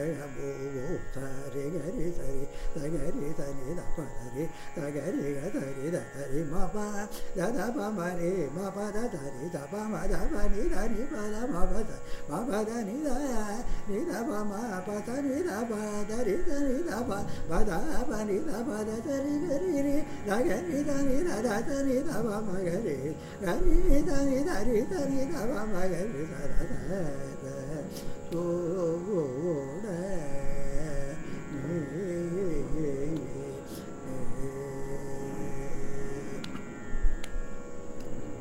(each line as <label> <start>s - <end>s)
Carnatic vocalist 0.0s - 38.4s